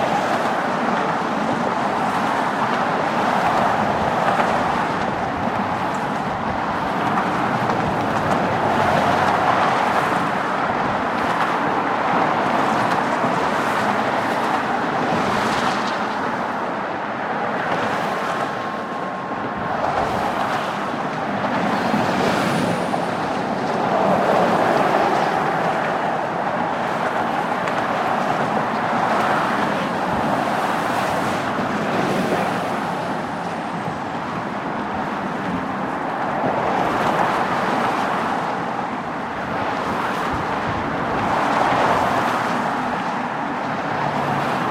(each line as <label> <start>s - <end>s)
traffic noise 0.0s - 44.7s
wind 0.0s - 44.7s